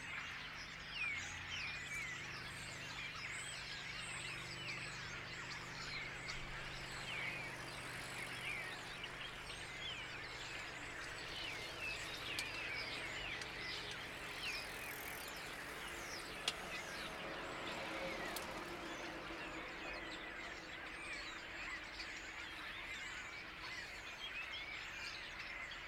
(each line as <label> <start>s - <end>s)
Cyclists 0.0s - 25.8s
motorboat 0.1s - 25.1s
swarm stare in a blackberry hedge 1.7s - 23.8s